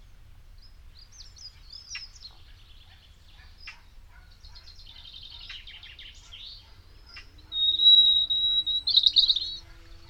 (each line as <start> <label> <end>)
0.0 spring birds 10.0